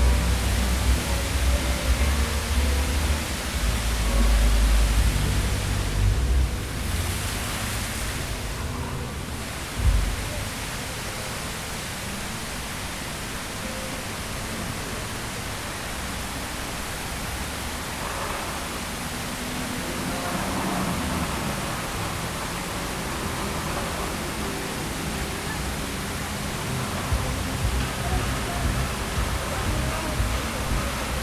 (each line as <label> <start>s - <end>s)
fountain 0.0s - 31.2s